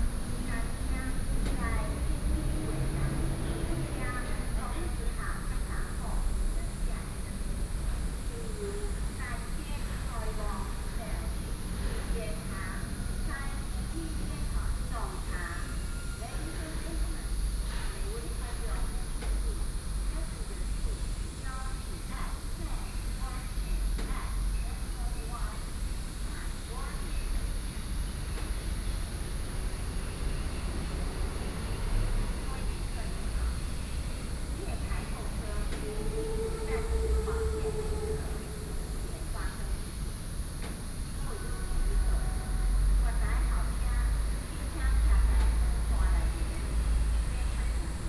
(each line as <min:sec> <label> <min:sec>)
0:00.0 traffic sound 0:07.9
0:00.0 Traveling by train 0:48.0
0:29.1 traffic sound 0:48.0